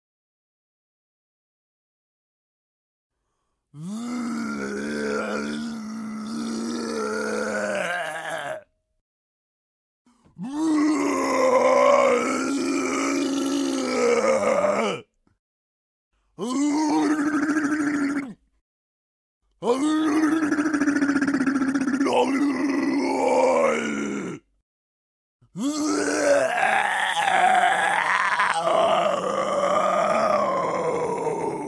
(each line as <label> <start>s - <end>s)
Misc Zombie 3.8s - 8.7s
Misc Zombie 10.4s - 15.0s
Misc Zombie 16.4s - 18.4s
Misc Zombie 19.6s - 24.5s
Misc Zombie 25.6s - 31.6s